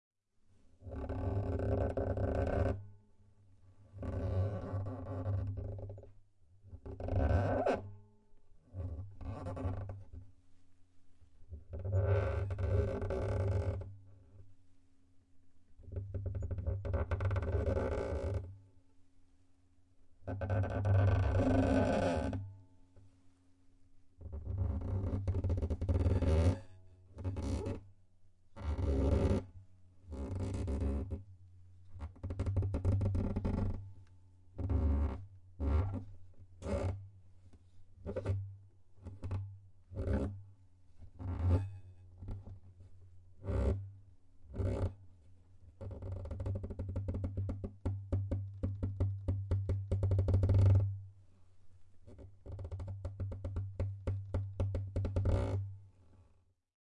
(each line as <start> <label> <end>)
4.0 Guitar Wood Creaking 6.1
8.8 Guitar Wood Creaking 10.2
24.3 Guitar Wood Creaking 26.6